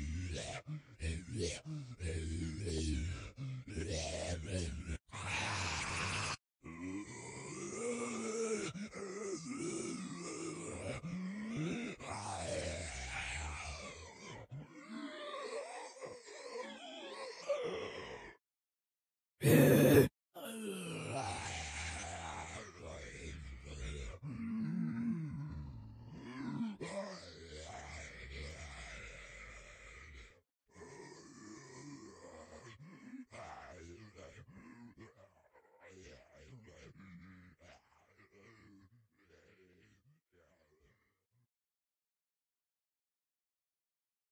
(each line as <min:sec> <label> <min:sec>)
0:00.0 Single zombie vocalization 0:18.4
0:19.4 Single zombie vocalization 0:32.7